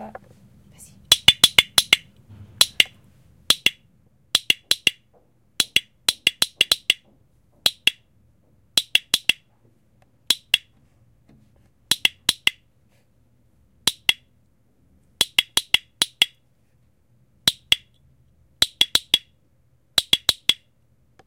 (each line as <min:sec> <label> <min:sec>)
0:01.1 small metal object which French soldiers used to signal 0:05.0